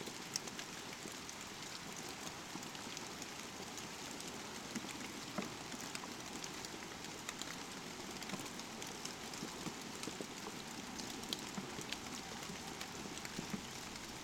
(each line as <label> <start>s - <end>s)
rain 0.0s - 14.2s